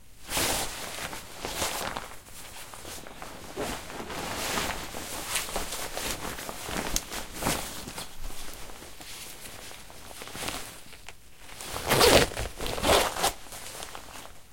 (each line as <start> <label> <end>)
11.6 pulling on a jacket 14.2